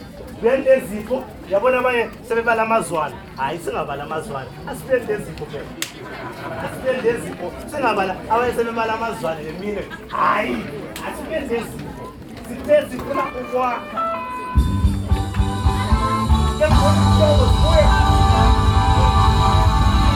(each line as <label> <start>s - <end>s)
announcements of the event’s master of ceremony 0.0s - 15.6s
thanks-giving hymn by the whole community 4.6s - 20.1s
announcements of the event’s master of ceremony 16.3s - 20.1s